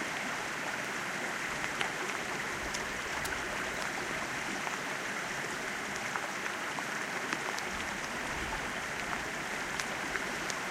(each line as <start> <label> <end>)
0.0 Swollen stream flowing into a calm sea 10.7
0.0 rain 10.7